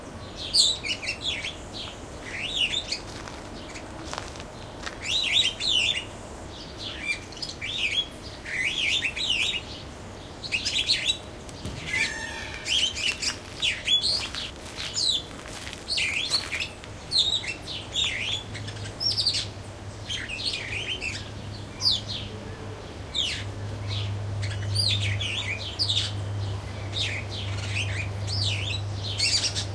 sparrows 0.0 - 29.7
peacock 11.6 - 14.3

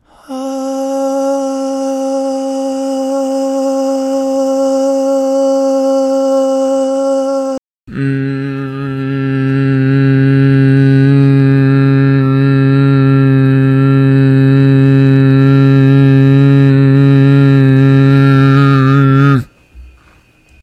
lower voice sample 0.0 - 19.5
sustained voice samples 0.1 - 19.5

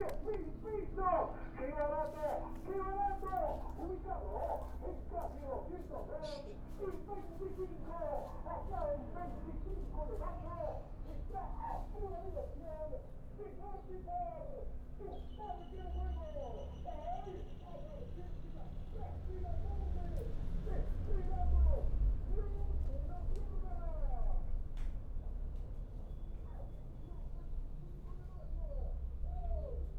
Air announcement over city 0.0 - 29.9
dog barks 18.6 - 21.0

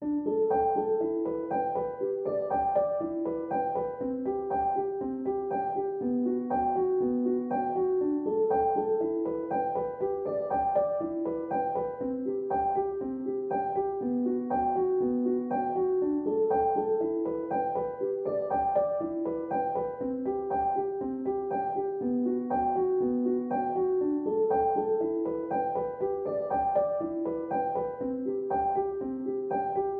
piano 0.0 - 29.9

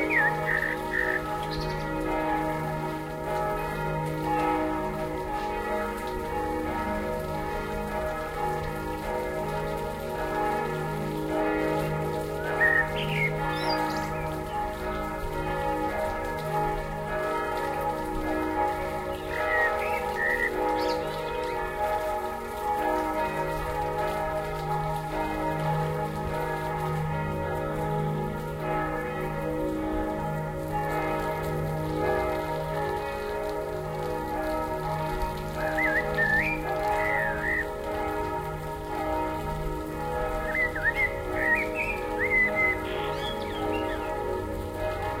blackbird 0.0 - 1.8
churchbells 0.0 - 45.2
blackbird 12.6 - 14.3
blackbird 35.7 - 37.7
blackbird 40.5 - 44.1

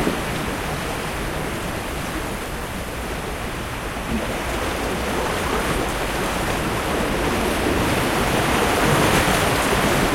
Waves breaking 0.0 - 10.1

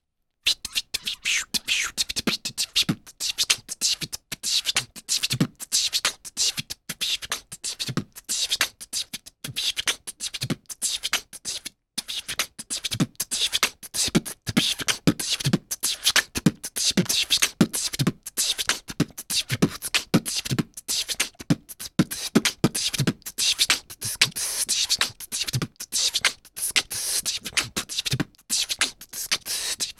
human beatbox 0.4 - 29.9

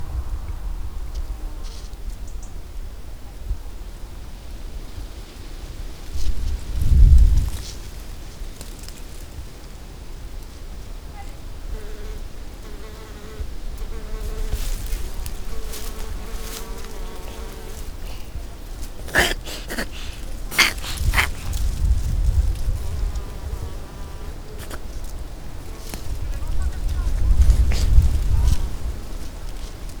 A little windy 0.0 - 11.6
Cat in bush 12.6 - 30.0
A little windy 13.4 - 30.0

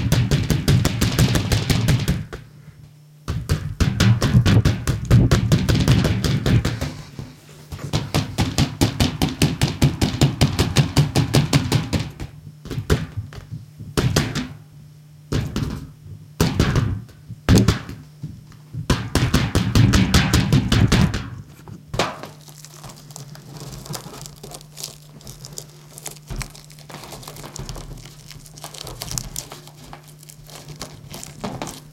inflated balloon toy attached to a rubber band that is bumped around 18.7 - 31.9

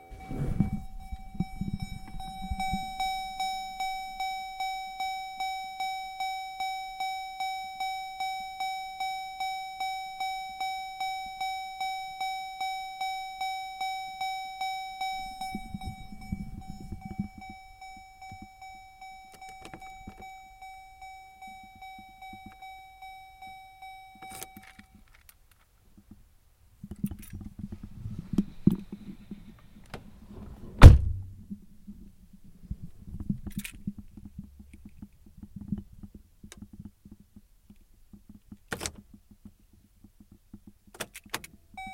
windows 0.0 - 4.8
windows 14.6 - 23.1
windows 24.2 - 41.9
door open close 27.1 - 31.4

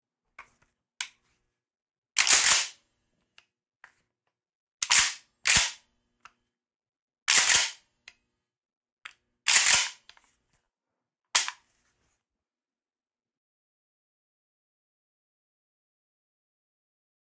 pumping mossberg500 .12 gauge pistol grip pump 7.3 - 7.8
pumping mossberg500 .12 gauge pistol grip pump 9.5 - 10.1

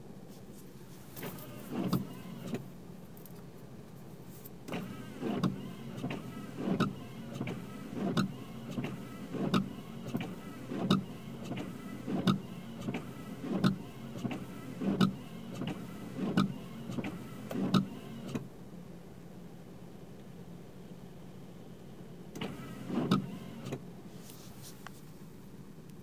Windshield wipers 1.2 - 2.7
Windshield wipers 4.7 - 18.5
Windshield wipers 22.3 - 23.8

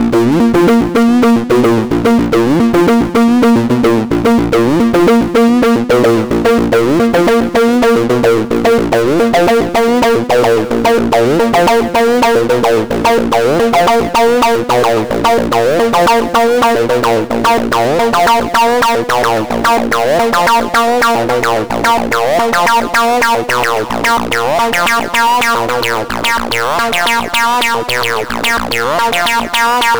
acid loop progressions 0.0 - 23.6

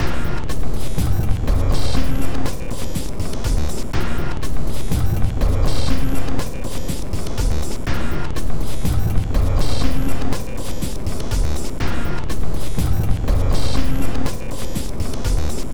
Drum Loop 0.0 - 15.7

